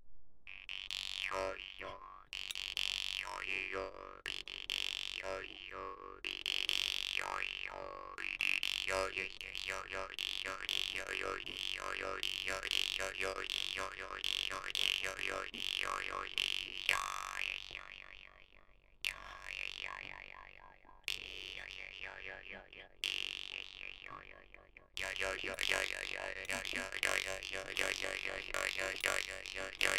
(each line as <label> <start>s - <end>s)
Vargan solo 9.4s - 29.9s